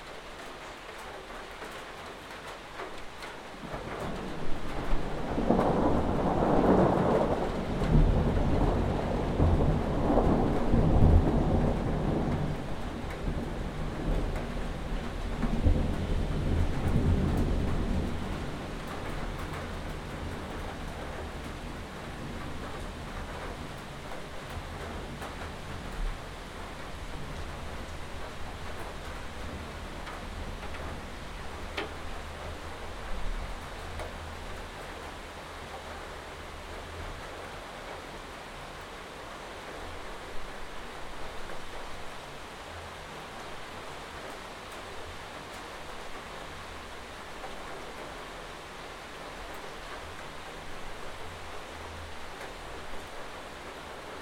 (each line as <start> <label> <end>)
3.2 Thunderstorm 38.8